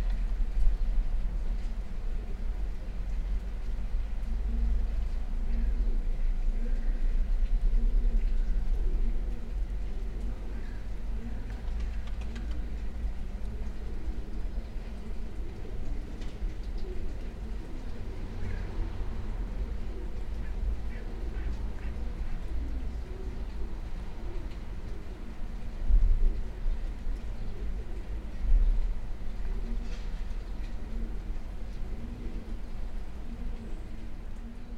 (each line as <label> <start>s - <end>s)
pigeons 0.0s - 34.7s